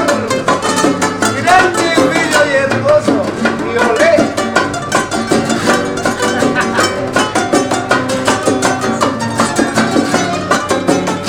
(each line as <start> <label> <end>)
0.0 trío 11.2